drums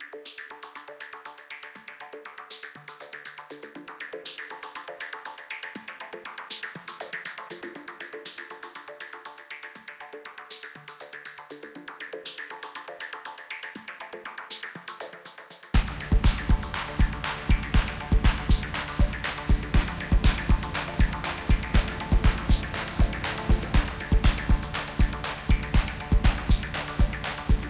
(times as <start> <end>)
15.7 27.6